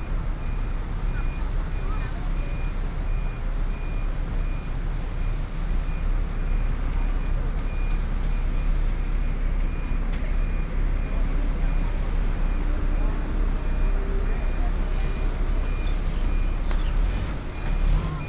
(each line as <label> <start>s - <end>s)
Traffic Noise 0.0s - 18.2s